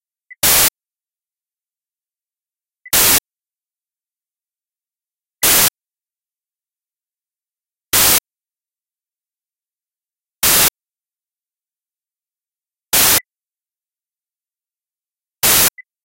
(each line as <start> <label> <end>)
0.4 mask (noise) 0.8
2.9 mask (noise) 3.3
5.4 mask (noise) 5.8
7.9 mask (noise) 8.3
10.4 mask (noise) 10.8
12.9 mask (noise) 13.3
15.4 mask (noise) 15.8